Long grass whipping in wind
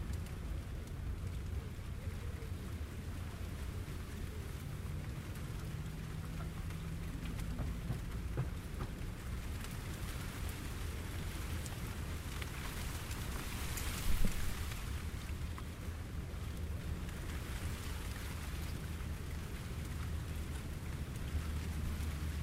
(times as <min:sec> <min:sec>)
0:09.2 0:22.4